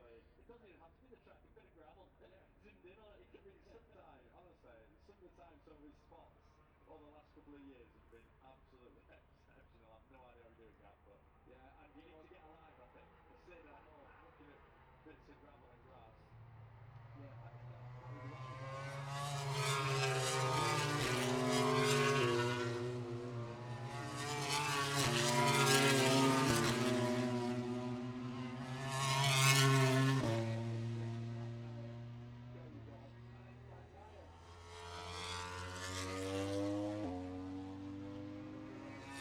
12.2s motorcycle grand prix 39.2s

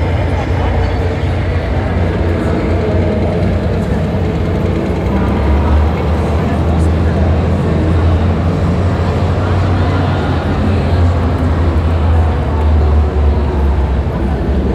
0.0s exhibition visitors 14.7s

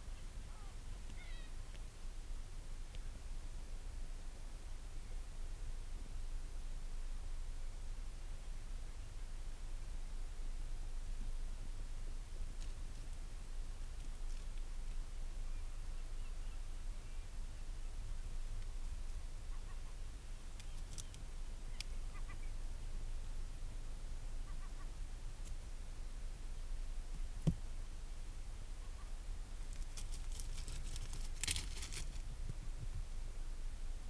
24.4s storm petrel calls and purrings 25.0s

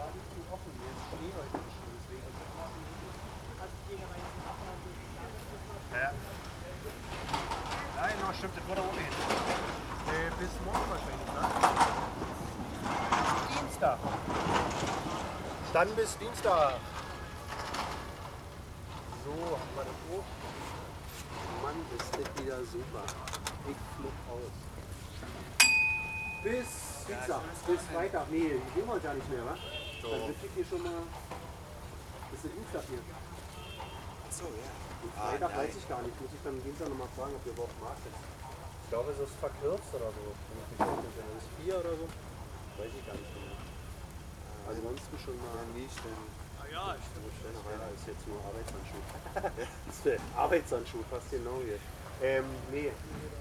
0.0s marketeers talking 53.4s

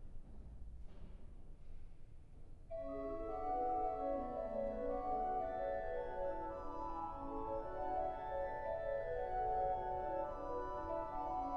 2.7s organist is playing organ 11.5s

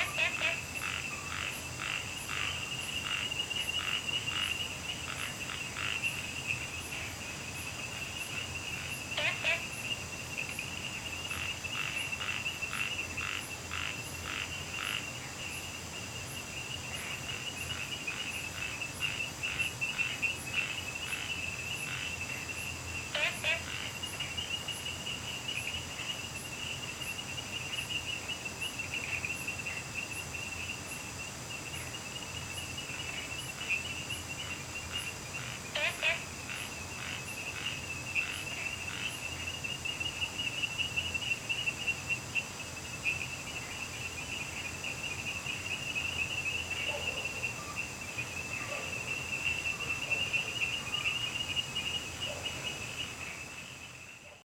0.0s Frogs chirping 54.4s
0.0s Insects sounds 54.4s
46.8s Dogs barking 47.4s

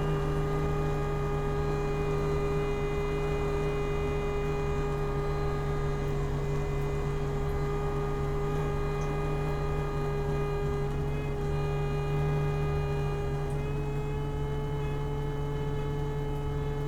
0.0s wind instrument 16.8s

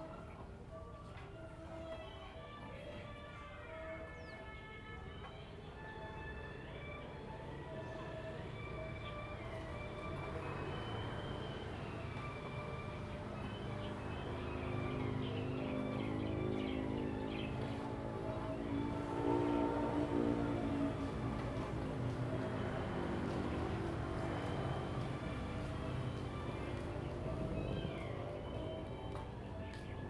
9.5s Traffic Sound 30.0s
11.0s Birds singing 19.2s
25.3s Birds singing 30.0s

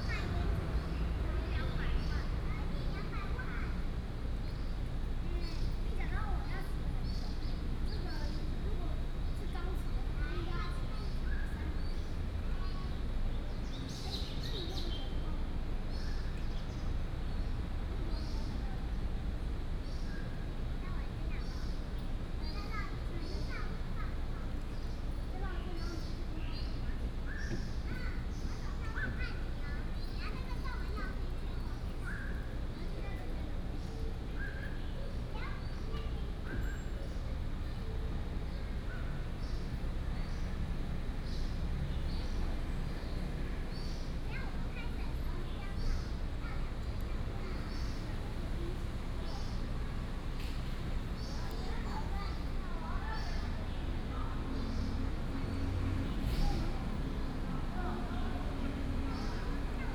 0.0s children 59.9s

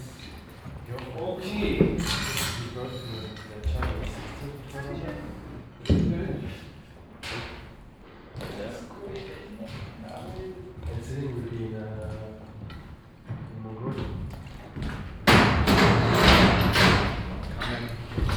0.0s conversations of the stuff 15.2s
1.8s metal pipes being moved 4.2s

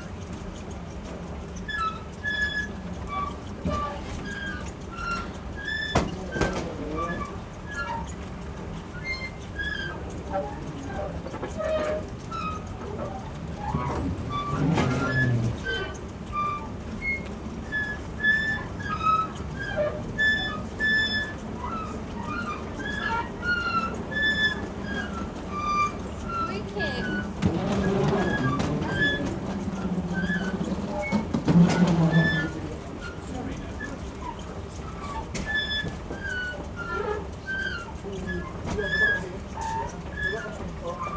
0.0s Tuneful escalator squeak 41.1s

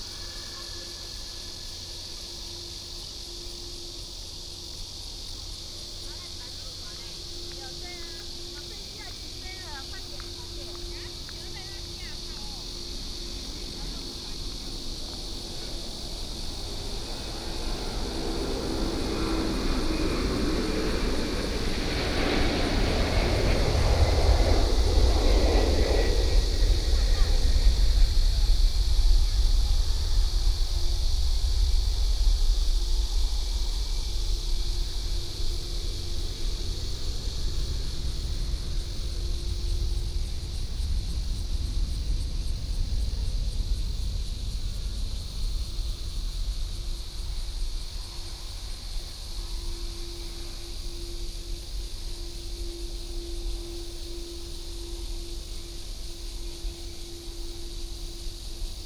0.0s Cicadas 58.8s
4.2s the plane 58.8s

